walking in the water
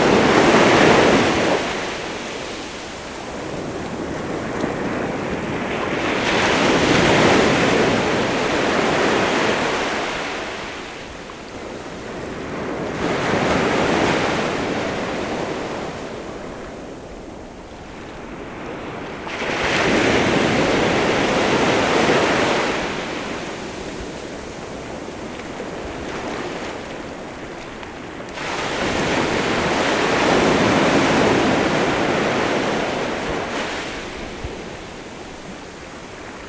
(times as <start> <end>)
0.0 9.2, 23.5 29.8